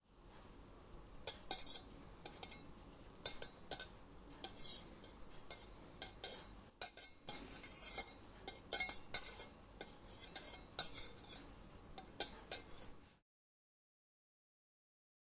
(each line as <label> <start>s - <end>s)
Using cutlery 1.2s - 13.0s